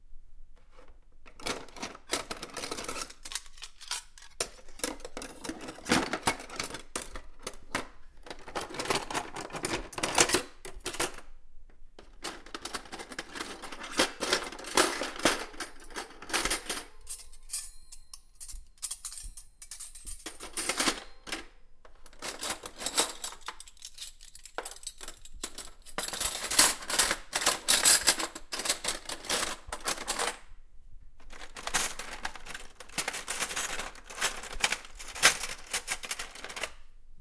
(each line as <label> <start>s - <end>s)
Scrambling cutlery 1.4s - 7.8s
Scrambling cutlery 12.2s - 21.4s
Scrambling cutlery 22.1s - 30.4s
Scrambling cutlery 31.3s - 36.8s